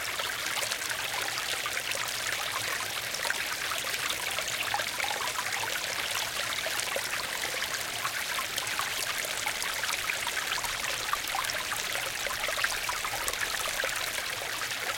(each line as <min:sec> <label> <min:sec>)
0:00.0 Small brook gurgling and babbling nearby 0:14.9